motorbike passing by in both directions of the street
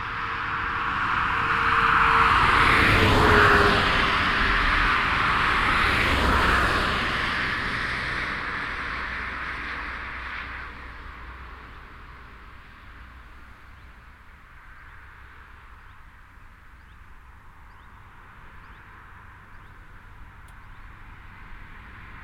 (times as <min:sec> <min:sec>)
0:00.0 0:14.1